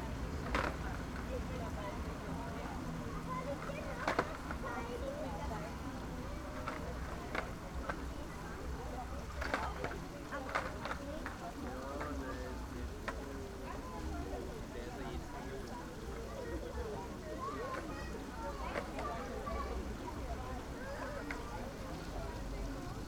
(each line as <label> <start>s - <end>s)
fountain 0.0s - 23.0s